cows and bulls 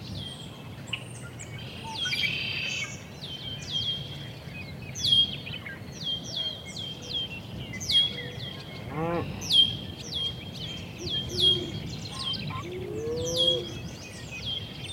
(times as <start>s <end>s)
8.9s 9.4s